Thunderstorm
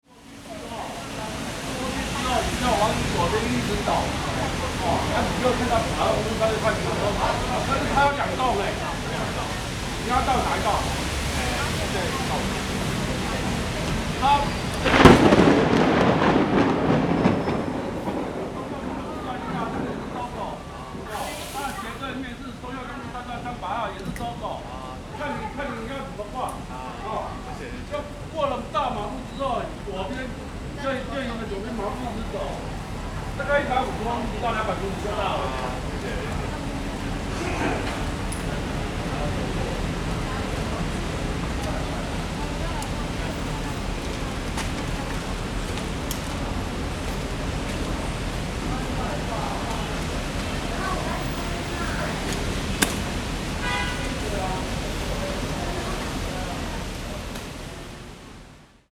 0.3s 22.2s

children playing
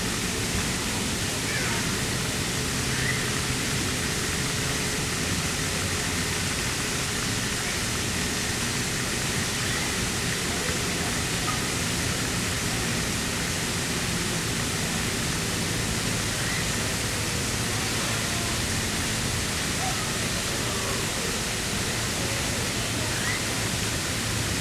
1.4s 1.9s

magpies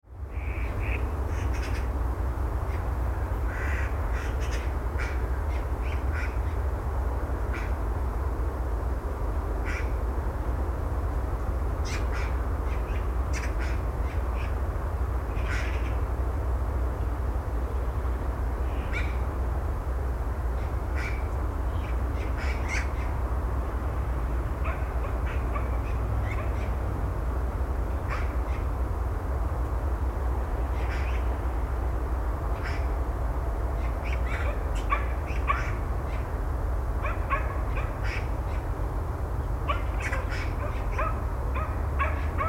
24.6s 26.8s, 28.0s 28.7s, 33.8s 36.3s, 37.0s 38.7s, 39.7s 42.4s

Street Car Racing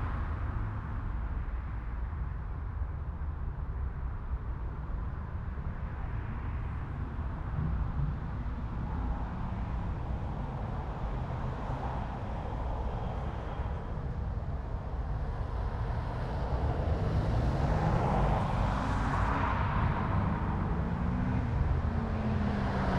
4.8s 22.9s

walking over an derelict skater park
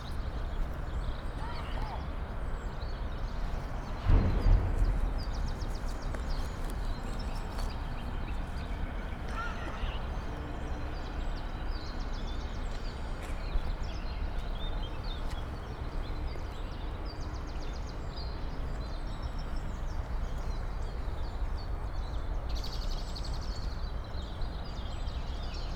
0.0s 11.2s

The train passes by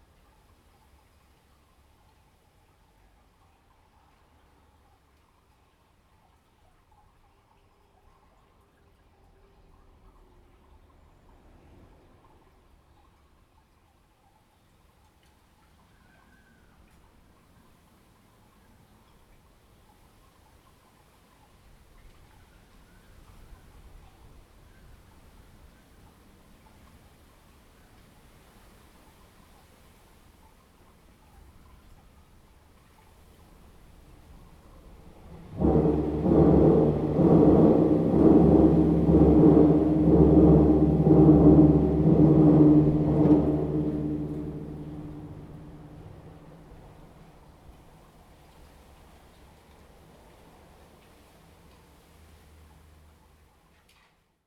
34.3s 47.5s

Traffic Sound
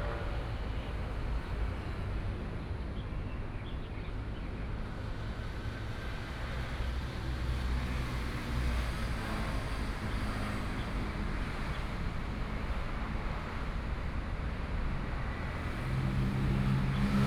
10.2s 17.2s

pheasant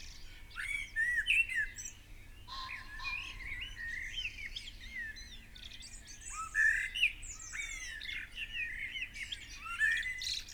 2.5s 3.9s

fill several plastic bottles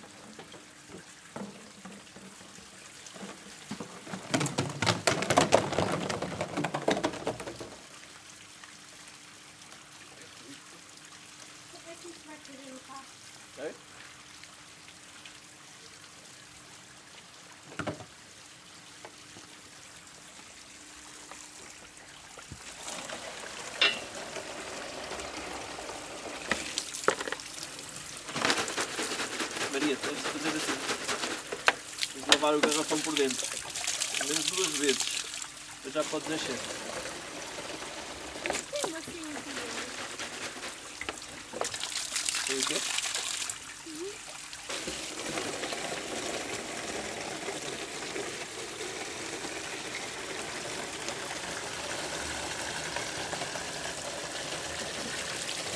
0.0s 7.9s, 21.0s 55.7s

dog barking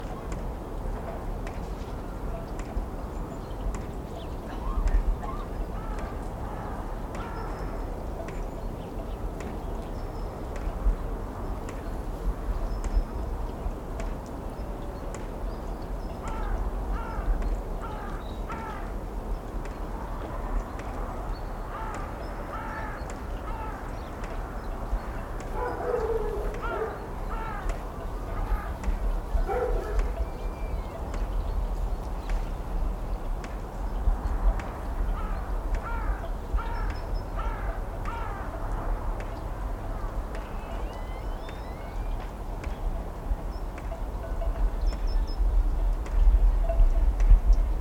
25.5s 27.0s, 29.4s 30.2s

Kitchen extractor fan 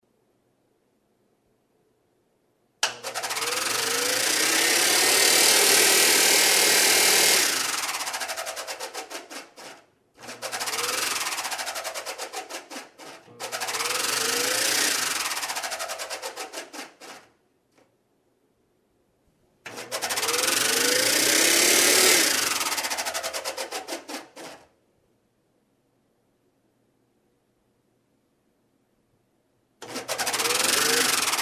2.8s 17.3s, 19.6s 24.7s, 29.8s 31.4s

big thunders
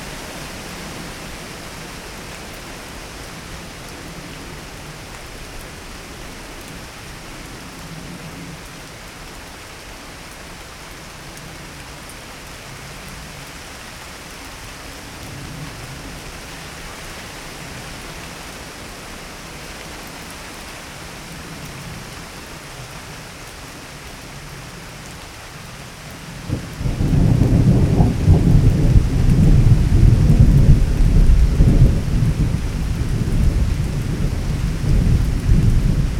26.5s 36.1s

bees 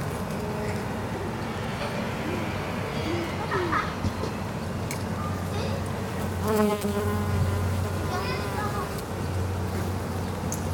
6.4s 9.0s

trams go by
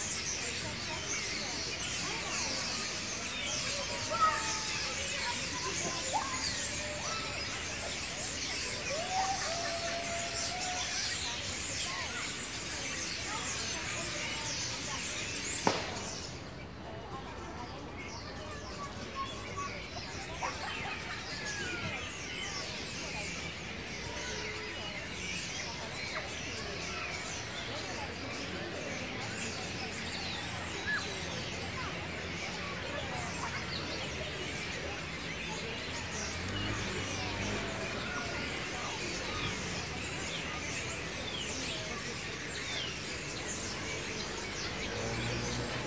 31.2s 45.8s

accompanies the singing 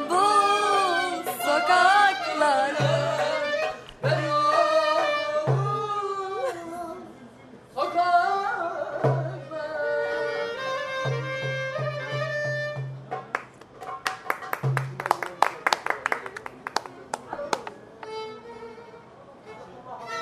0.0s 10.6s

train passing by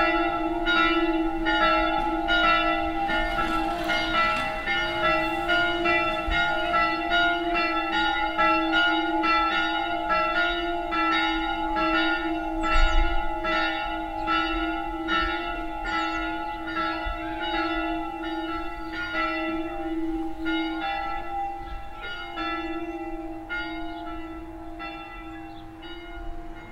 1.3s 8.3s

